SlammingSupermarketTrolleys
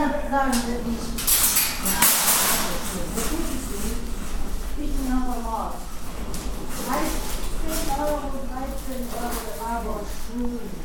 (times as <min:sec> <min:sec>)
0:01.2 0:04.0